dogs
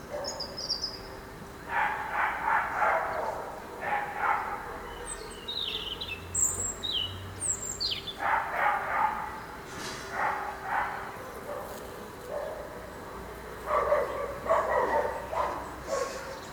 0.1 0.5, 1.7 4.8, 8.2 9.4, 10.0 16.5

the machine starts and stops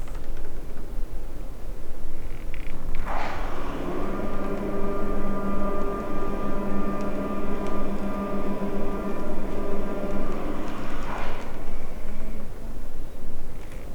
2.6 13.0

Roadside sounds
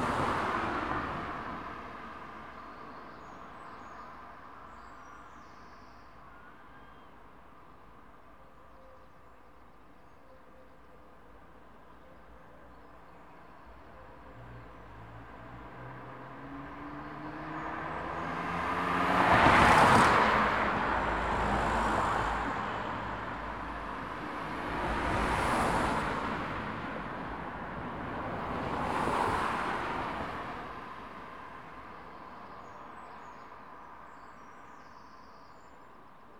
0.0 4.7, 11.1 35.2

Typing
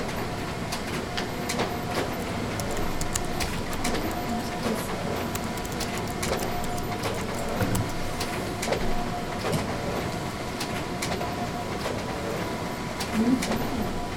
1.4 8.4

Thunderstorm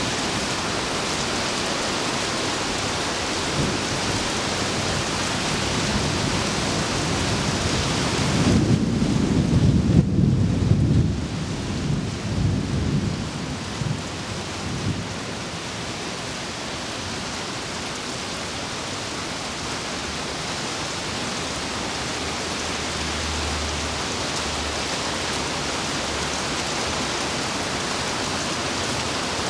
0.0 15.7

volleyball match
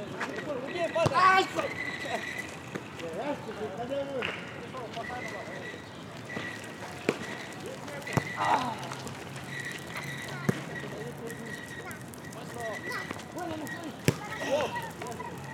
0.6 2.9, 4.2 10.9, 12.1 15.2

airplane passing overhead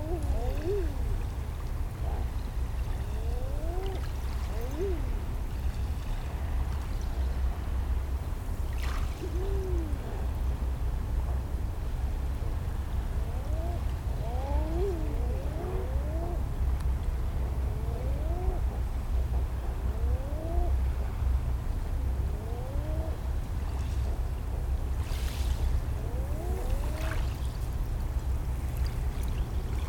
22.0 29.8

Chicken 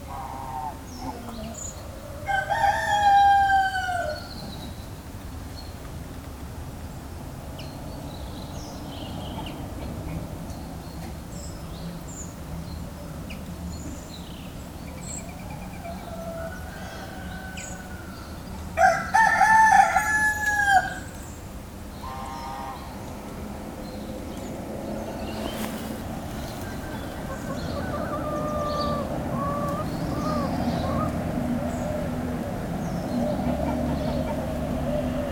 0.1 4.6, 25.4 32.1, 33.1 35.3

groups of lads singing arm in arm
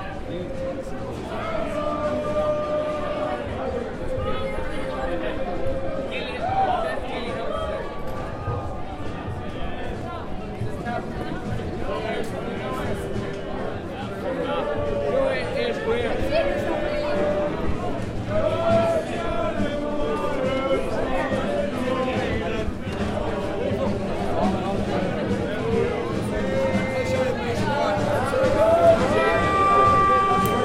0.4 5.9, 12.6 30.6

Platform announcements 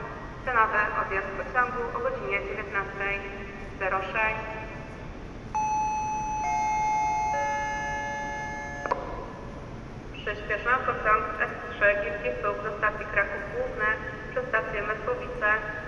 5.6 9.6

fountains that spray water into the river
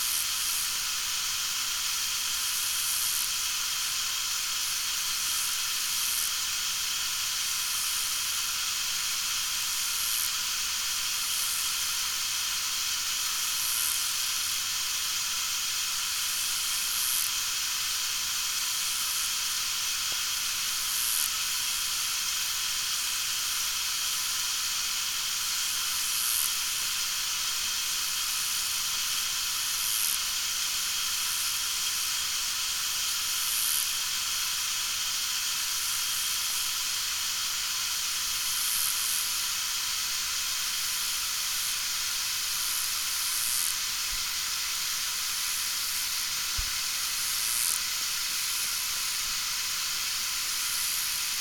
33.9 38.5, 43.8 51.4

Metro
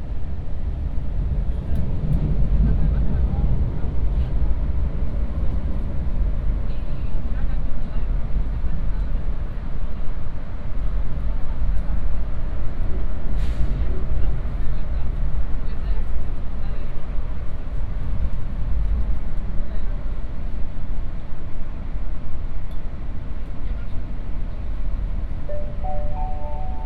25.5 26.8

